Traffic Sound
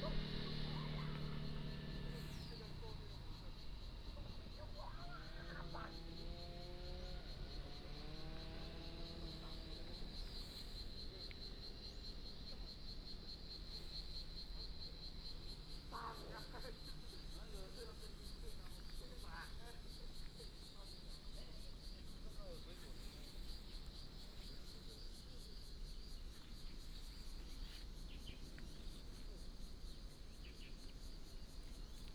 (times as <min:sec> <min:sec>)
0:00.0 0:04.1